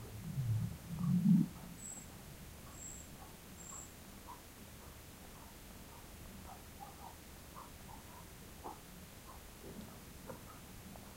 dog 1.6 - 9.4

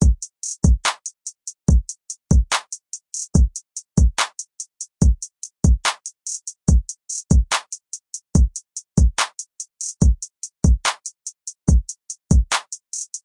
hi hat 0.0 - 13.2
snare 12.5 - 12.7

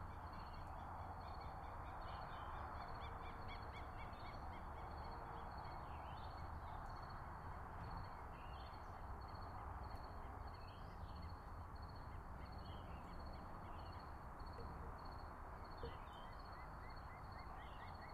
crickets 0.1 - 18.1
birds 7.8 - 18.1

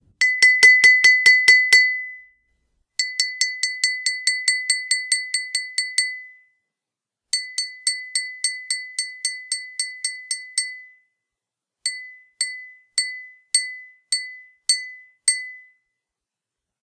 spoon tapping glass 0.2 - 2.3
spoon tapping glass 3.0 - 6.4
spoon tapping glass 7.4 - 11.0
spoon tapping glass 11.9 - 15.7

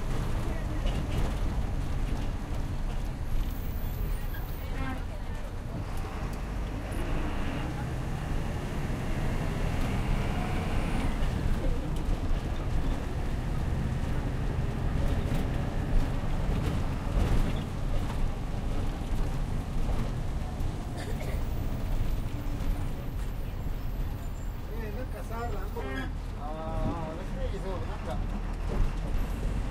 Bus 0.0 - 29.7

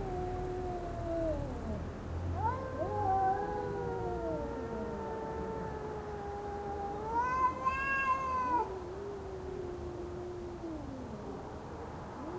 Two cats arguing, then fighting 0.0 - 11.4

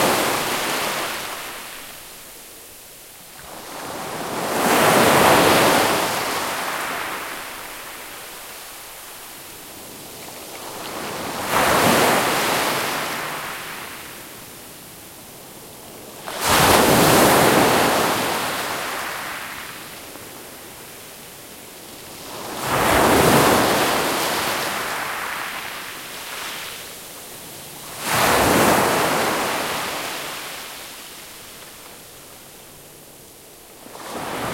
waves 0.0 - 34.5

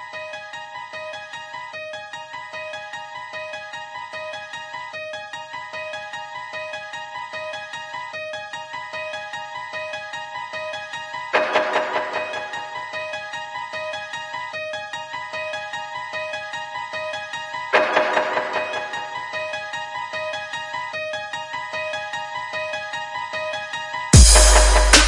Melody 17.7 - 20.8
Bass 24.2 - 25.0

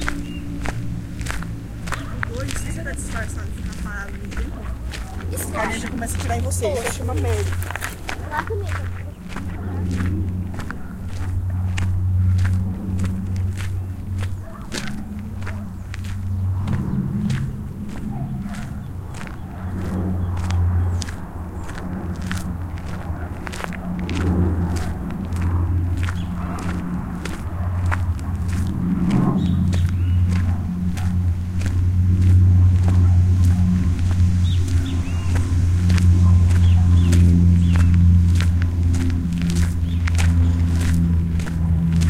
birds on background 0.0 - 42.0
steps in the woods 0.0 - 42.0

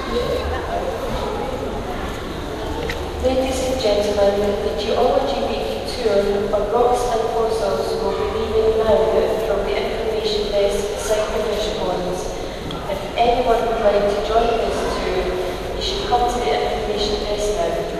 people 0.0 - 17.9

